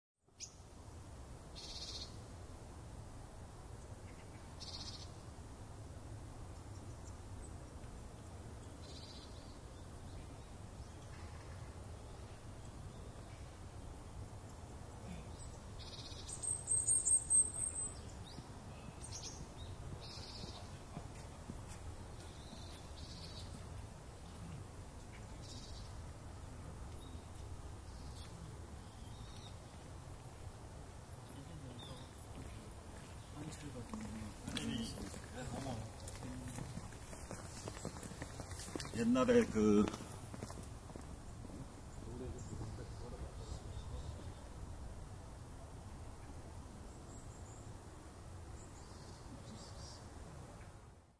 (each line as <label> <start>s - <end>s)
Birds 0.3s - 0.7s
Birds 1.5s - 2.4s
Birds 3.7s - 5.4s
Birds 6.4s - 44.8s
people walking and talking 17.2s - 25.6s
people walking and talking 31.2s - 44.7s
Birds 45.6s - 50.9s